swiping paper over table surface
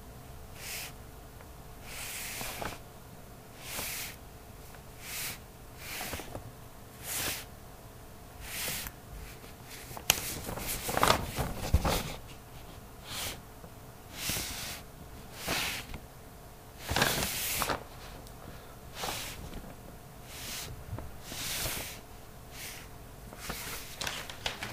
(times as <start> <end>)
0.6 1.0, 1.8 2.8, 3.6 4.2, 5.0 6.4, 7.0 7.5, 8.4 13.4, 14.1 16.0, 16.8 18.2, 18.9 19.5, 20.2 24.7